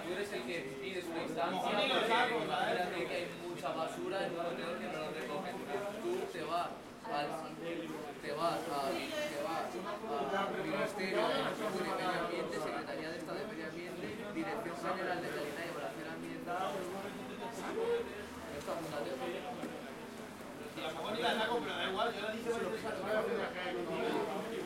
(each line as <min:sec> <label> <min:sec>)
0:00.0 fishermen and people talking 0:24.6